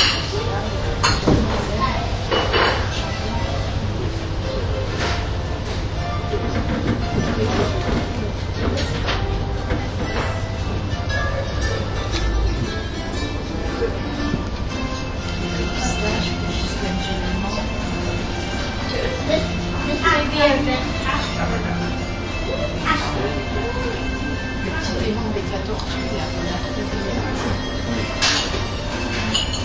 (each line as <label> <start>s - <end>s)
plates 27.3s - 29.6s